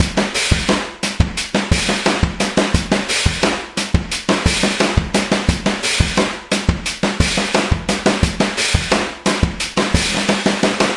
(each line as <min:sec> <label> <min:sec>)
0:00.0 Processed Drumloop with bitcrusher 0:10.9